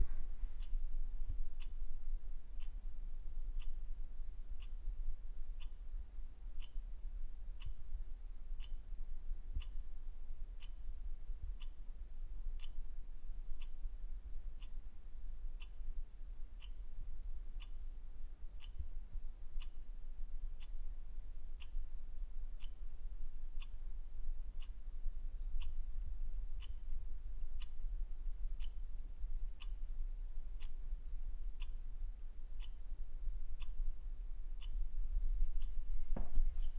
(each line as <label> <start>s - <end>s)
kitchen wall clock ticking 8.6s - 8.8s
kitchen wall clock ticking 20.3s - 23.8s
kitchen wall clock ticking 24.6s - 28.8s